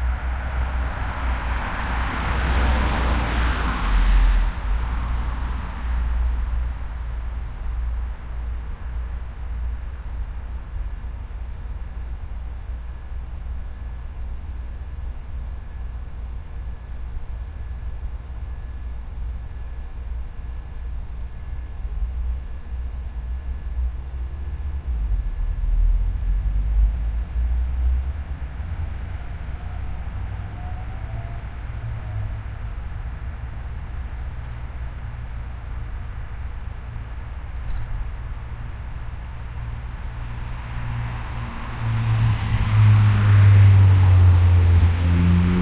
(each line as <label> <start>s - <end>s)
car traffic 0.0s - 12.8s
car traffic 24.8s - 45.6s